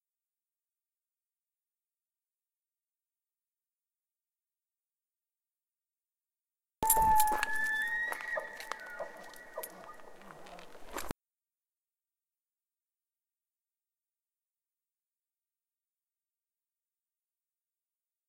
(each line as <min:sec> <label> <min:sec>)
0:06.9 bull elk bugling 0:11.0